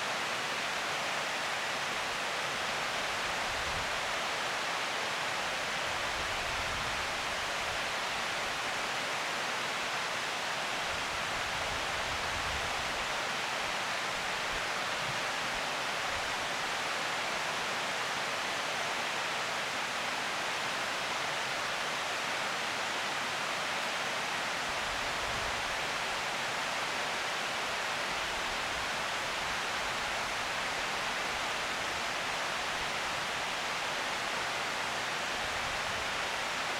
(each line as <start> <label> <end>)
0.0 waterfall of the dam 36.7